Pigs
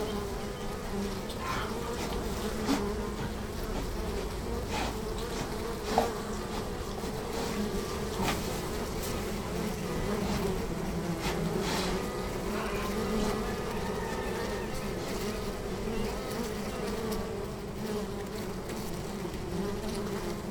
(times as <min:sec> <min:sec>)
0:01.2 0:08.6, 0:11.2 0:17.2